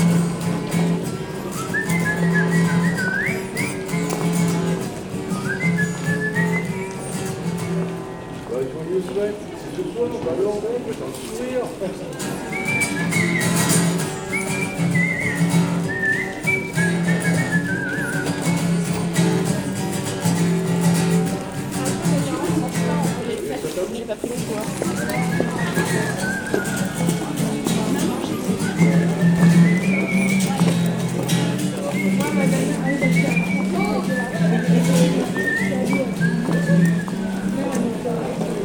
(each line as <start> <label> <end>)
0.0 play the guitar 10.3
0.0 Walkers go quietly 38.6
1.0 whistle 8.2
10.9 play the guitar 38.6
12.4 whistle 19.4
19.2 rather amused discussions 38.6
24.8 whistle 37.5